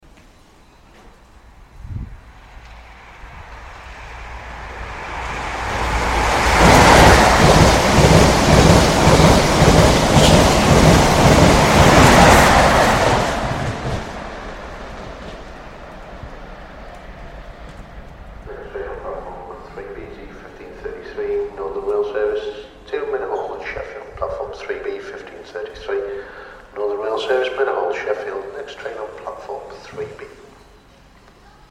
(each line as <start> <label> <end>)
1.6 Passing HST 20.9
18.4 announcement 30.6